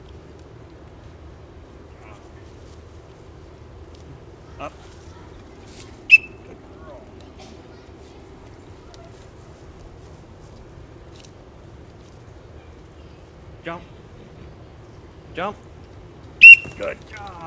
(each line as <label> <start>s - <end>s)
commands 4.4s - 9.5s
high-pitched training whistle 6.1s - 6.5s
commands 13.6s - 14.2s
commands 16.3s - 17.4s
high-pitched training whistle 16.4s - 16.9s